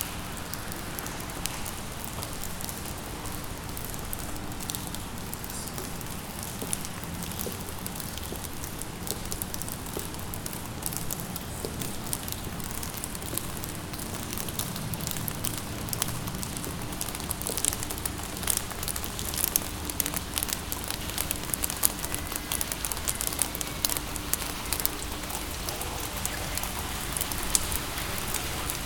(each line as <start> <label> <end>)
0.0 the rain in the submarine base 28.8